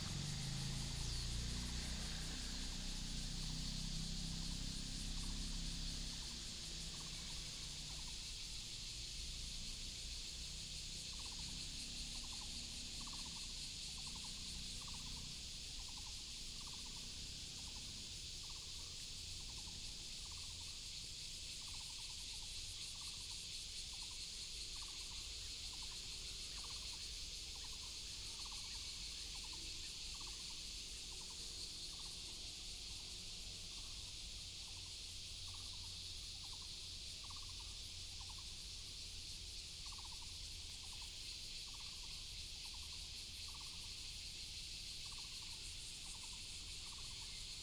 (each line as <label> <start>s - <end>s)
traffic sound 0.0s - 7.8s
Cicada cry 0.0s - 47.6s